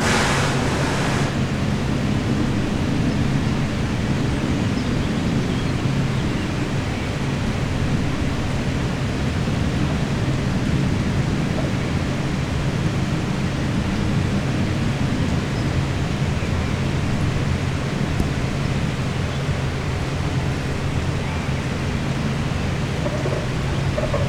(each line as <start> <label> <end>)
0.0 squeeky old fan 1.8